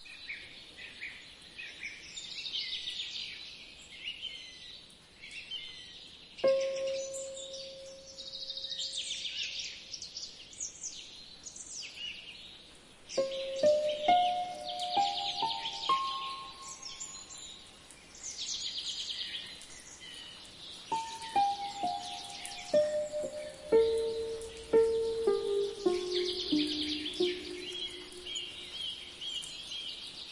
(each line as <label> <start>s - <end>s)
birds 0.0s - 30.3s
rain 0.0s - 30.3s
harp 6.4s - 8.1s
harp 13.2s - 17.2s
synthesizer 20.9s - 28.6s
harp 20.9s - 28.8s